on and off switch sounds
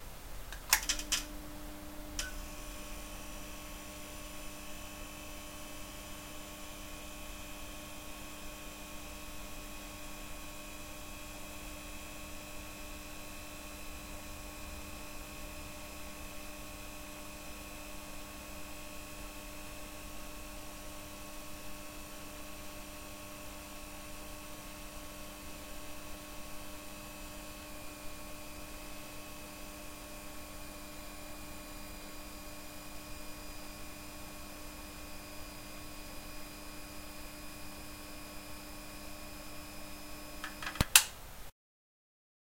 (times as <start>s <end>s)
0.5s 3.0s, 40.4s 41.2s